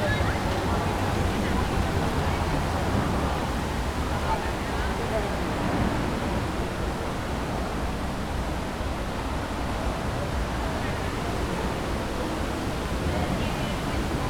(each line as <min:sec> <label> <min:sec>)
0:00.0 water fountain 0:07.1